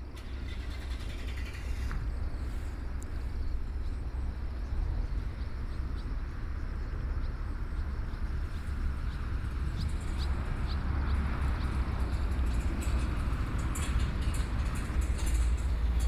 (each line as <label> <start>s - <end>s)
Traffic Sound 8.8s - 16.0s